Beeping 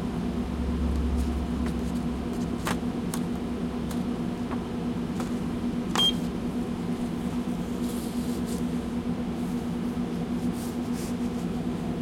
6.0 6.2

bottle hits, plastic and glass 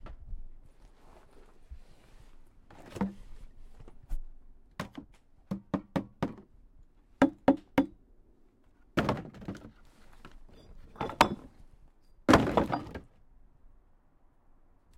11.0 11.5, 12.3 13.0

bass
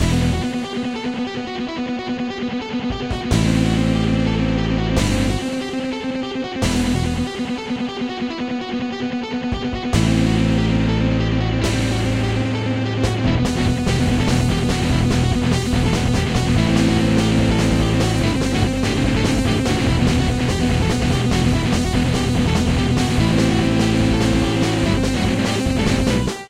0.0 0.6, 3.3 5.6, 6.6 7.4, 9.9 26.4

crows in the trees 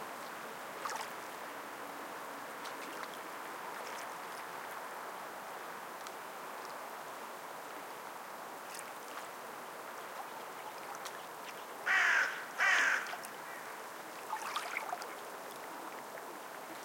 11.6 14.0

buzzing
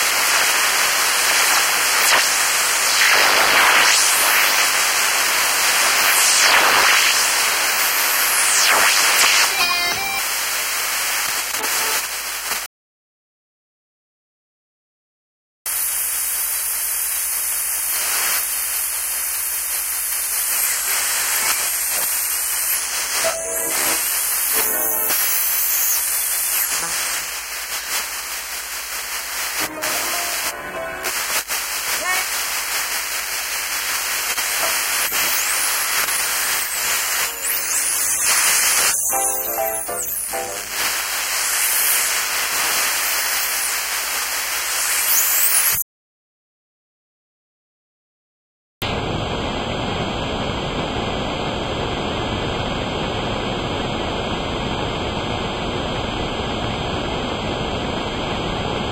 20.4 28.0, 34.2 43.9

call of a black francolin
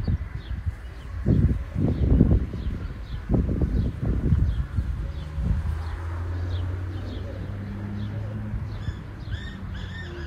6.9 10.2

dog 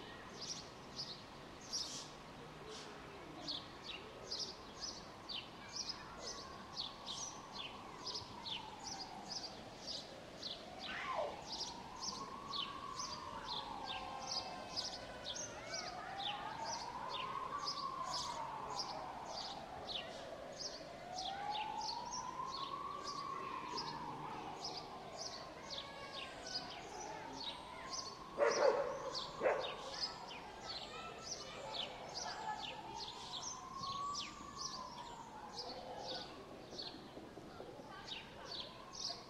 28.4 29.8

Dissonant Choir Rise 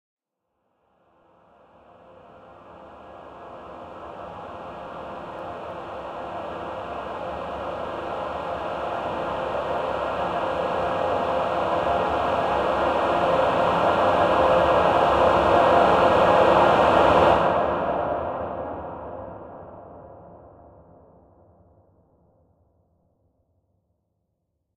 1.9 20.0

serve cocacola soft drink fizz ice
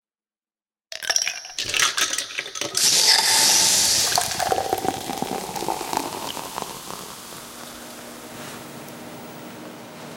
1.4 9.2

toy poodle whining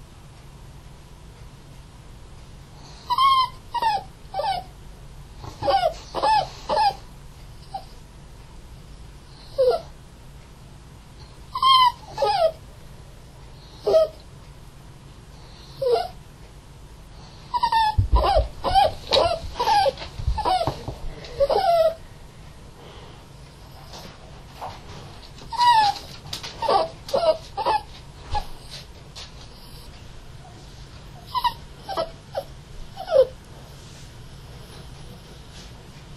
3.0 4.7, 5.4 7.0, 7.6 8.0, 9.4 9.9, 11.5 12.6, 13.7 14.2, 15.6 16.2, 17.5 22.0, 25.5 28.9, 31.2 33.4

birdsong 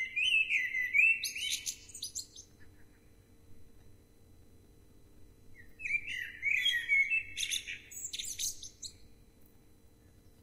0.0 4.0, 5.5 9.2

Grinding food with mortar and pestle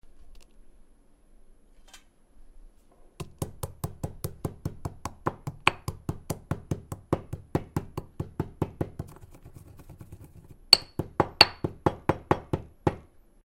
3.3 12.5

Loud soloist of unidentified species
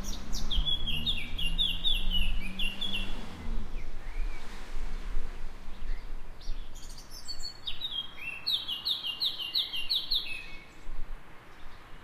0.0 4.4, 5.8 10.7

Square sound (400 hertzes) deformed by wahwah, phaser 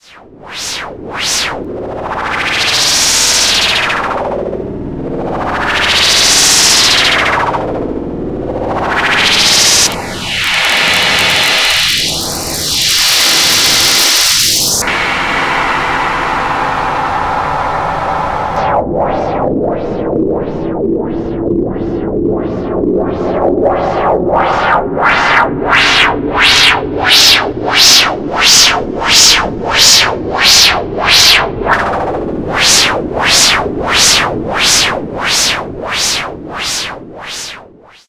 8.4 38.0

